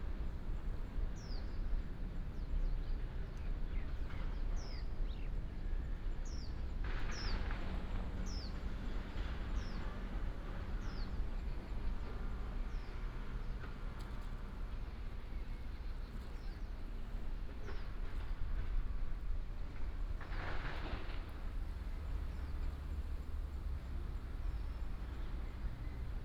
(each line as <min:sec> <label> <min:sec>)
0:00.0 traffic sound 0:26.2